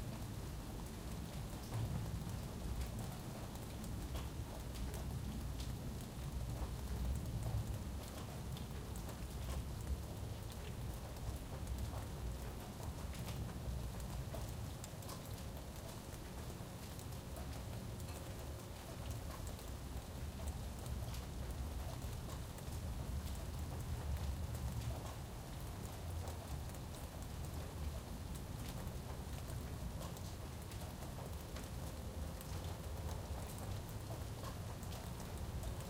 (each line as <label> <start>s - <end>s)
rain 0.0s - 35.8s